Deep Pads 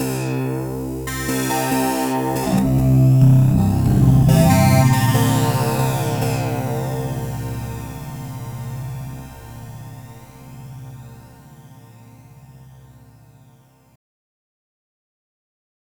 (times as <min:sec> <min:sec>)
0:02.3 0:10.9